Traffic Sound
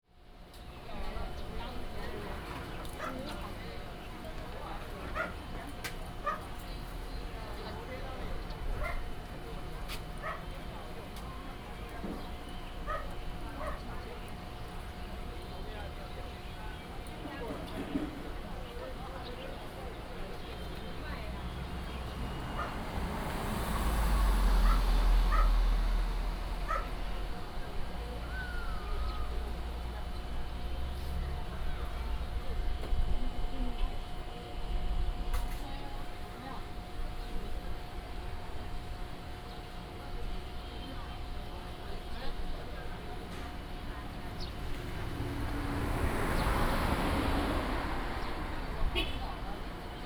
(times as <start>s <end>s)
19.8s 33.0s, 42.8s 50.0s